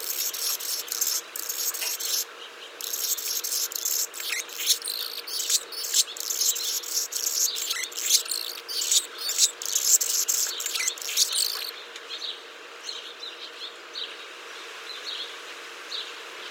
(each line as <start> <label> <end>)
0.0 Annas Hummingbird 11.7